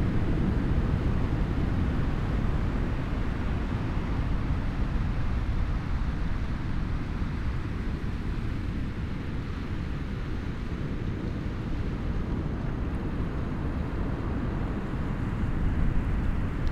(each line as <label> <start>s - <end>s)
roar of the surf on the outer reef 0.0s - 16.7s